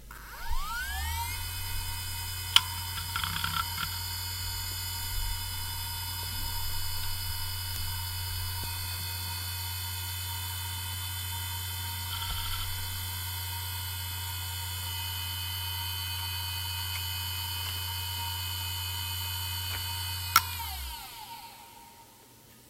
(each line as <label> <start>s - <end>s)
hard drive 0.0s - 22.1s
rattle 0.6s - 14.6s